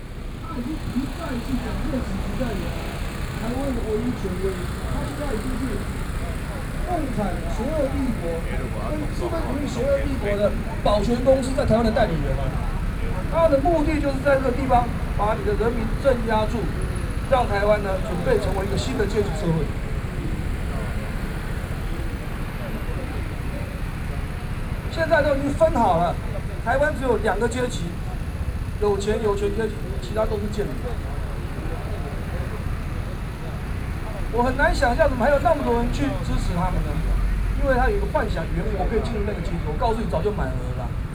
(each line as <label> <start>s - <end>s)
Protest 0.0s - 41.1s
Speech 0.0s - 41.1s